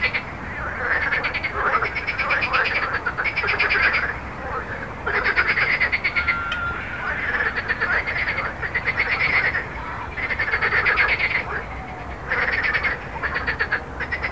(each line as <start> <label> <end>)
0.0 Frog 14.3
0.0 road 14.3